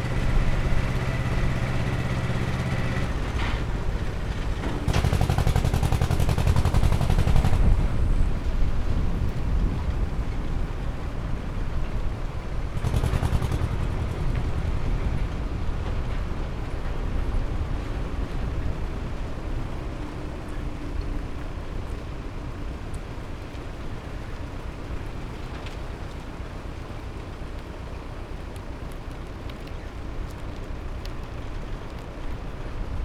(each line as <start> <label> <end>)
0.0 old Polish Ursus tractor 10.2